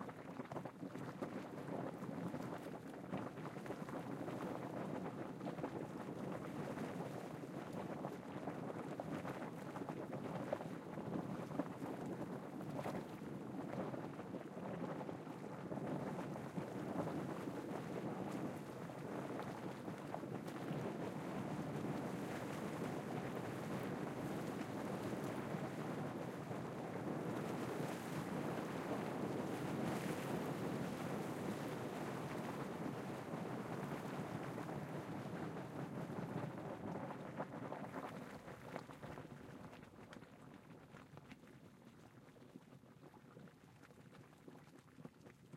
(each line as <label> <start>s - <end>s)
Bubbling Hot Spring 0.0s - 45.5s